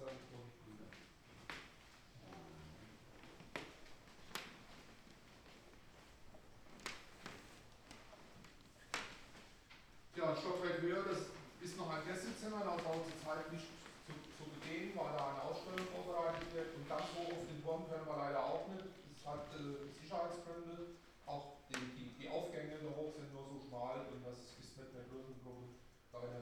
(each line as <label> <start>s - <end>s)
visitors gliding on overshoes 1.2s - 17.6s